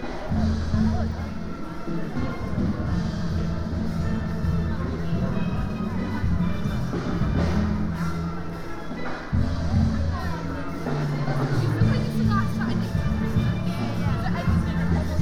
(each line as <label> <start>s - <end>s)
Salvation Army band 0.0s - 15.2s
buskers 0.0s - 15.2s
small PAs on pop-up stalls 0.0s - 15.2s
steel pan orchestra 0.0s - 15.2s